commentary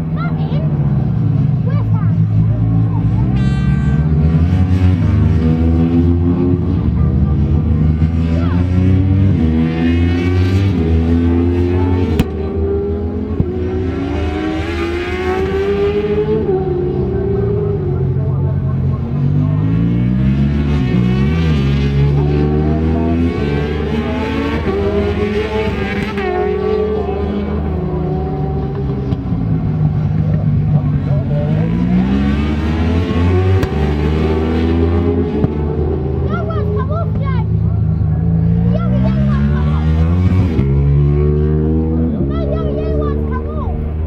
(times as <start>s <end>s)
30.2s 44.0s